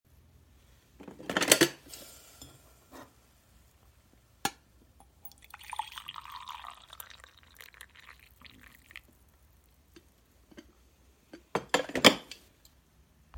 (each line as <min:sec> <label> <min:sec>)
0:05.0 pouring a cup of coffee 0:10.0